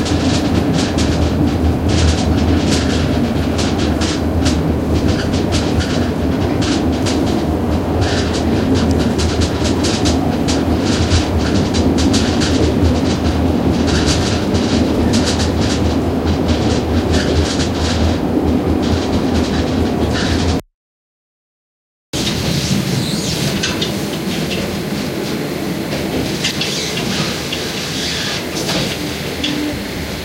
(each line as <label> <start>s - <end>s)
steam-train, squeaking and rattling inside 0.0s - 20.6s
train approaching in the station 0.0s - 20.6s
steam-train, squeaking and rattling inside 22.2s - 30.2s
train approaching in the station 22.2s - 30.2s
squeaking of the brakes 22.6s - 24.0s
hiss of the steam 26.3s - 30.2s
squeaking of the brakes 26.5s - 29.8s